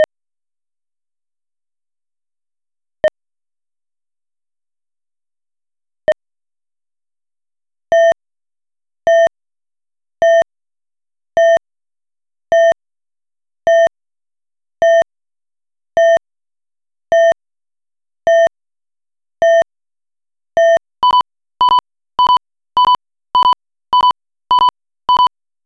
acoustic signal emitted by some crosswalks 0:20.7 - 0:25.3

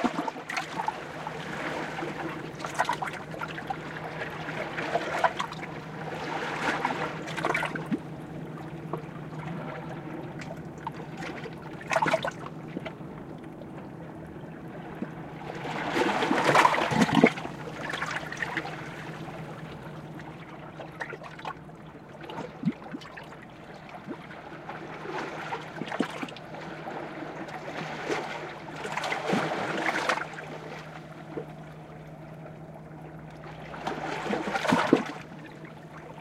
motor boat engine 0:00.0 - 0:36.2
waves between rocks 0:00.0 - 0:36.2
bubbling 0:10.3 - 0:25.0

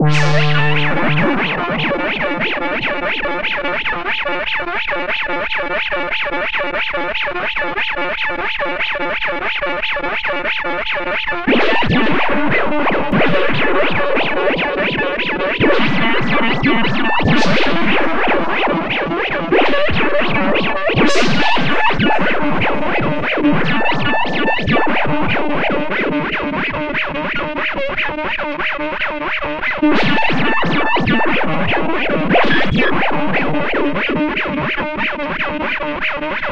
'explosive' notes 0:00.0 - 0:04.1

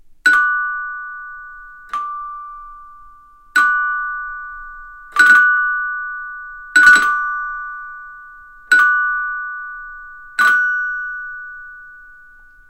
bell 0:00.2 - 0:12.6

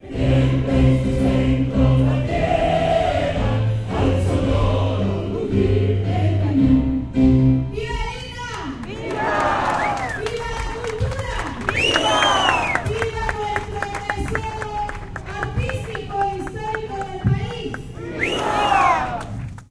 people singing 0:00.0 - 0:07.0

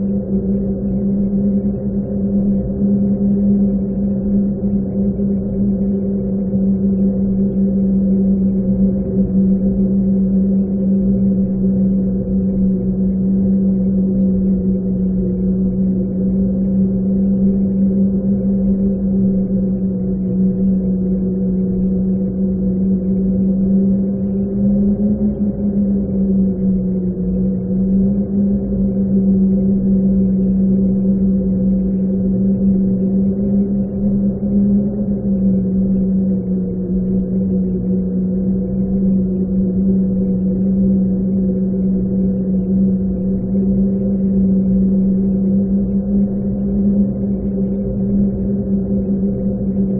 Howling Wind 0:00.0 - 0:49.9

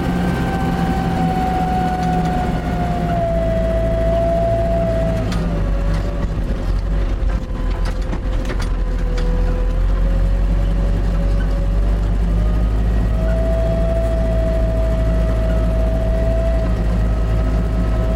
excavator MF 860 interior cabin driving on the field 0:00.0 - 0:18.1
clunk 0:05.3 - 0:09.8

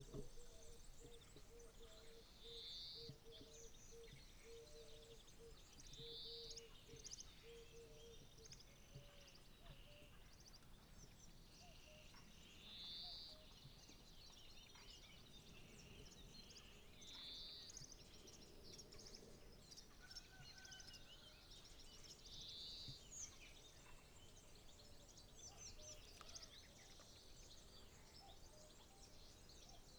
BIRDSONG 0:00.0 - 0:29.9

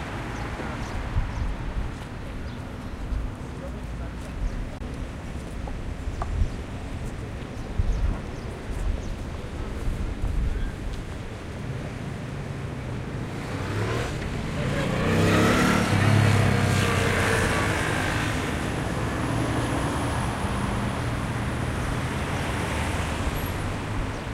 people talking 0:03.4 - 0:04.8
cars 0:08.3 - 0:24.3

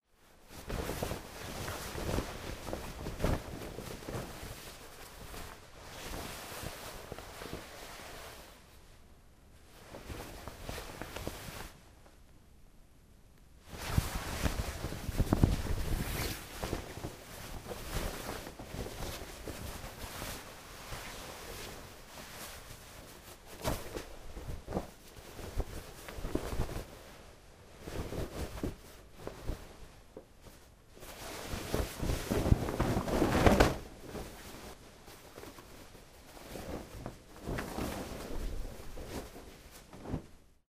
sheet being shaken and rustled 0:00.2 - 0:09.0
sheet being shaken and rustled 0:09.6 - 0:11.8
sheet being shaken and rustled 0:13.6 - 0:40.6

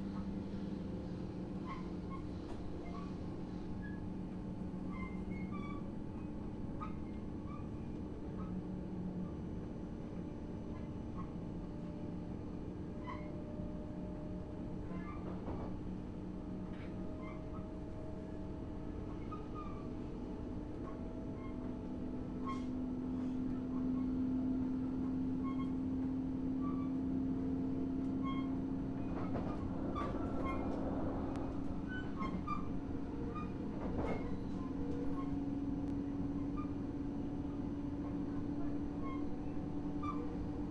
intercity train departing 0:24.5 - 0:31.9

